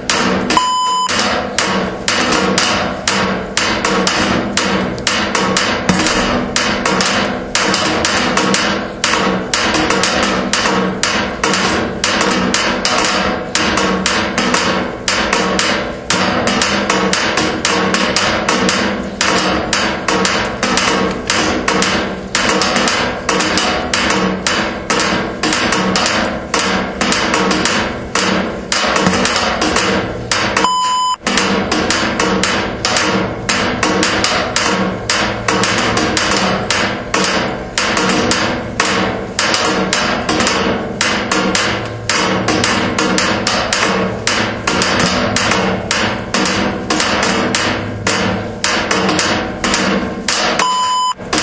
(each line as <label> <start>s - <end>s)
three recorder beeps 0.6s - 1.2s
three recorder beeps 30.6s - 31.2s
three recorder beeps 50.6s - 51.2s